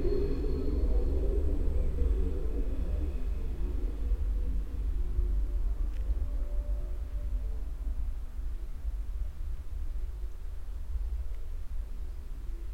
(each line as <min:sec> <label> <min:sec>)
0:00.0 mysterious sound evolution by the long electric wires 0:07.0
0:00.0 train passing by slowly 0:12.7